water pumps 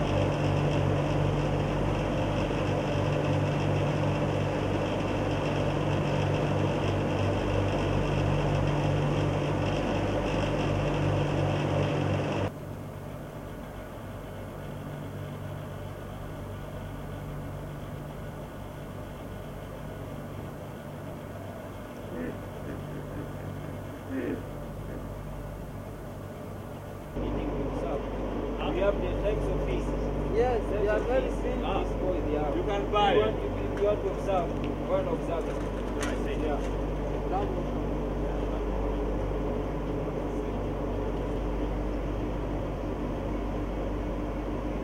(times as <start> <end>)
0.0 12.6